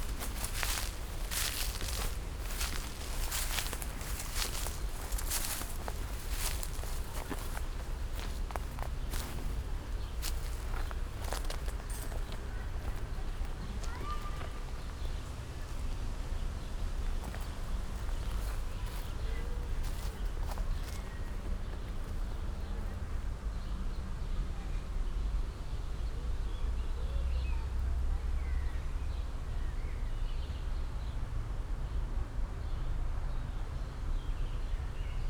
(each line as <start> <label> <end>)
0.0 slow walk 23.0